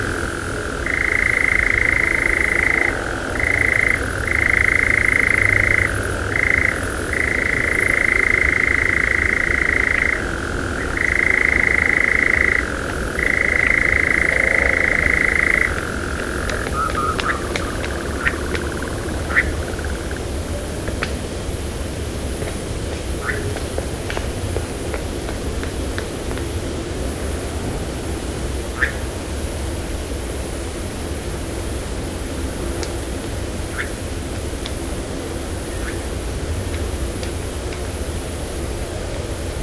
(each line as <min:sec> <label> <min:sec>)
0:00.0 European nightjar 0:20.4
0:23.2 European nightjar 0:23.5
0:28.7 European nightjar 0:29.1
0:33.7 European nightjar 0:34.0
0:35.6 European nightjar 0:36.1